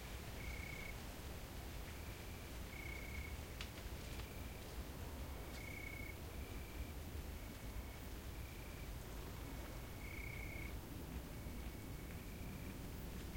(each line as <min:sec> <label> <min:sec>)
0:00.0 crickets 0:13.3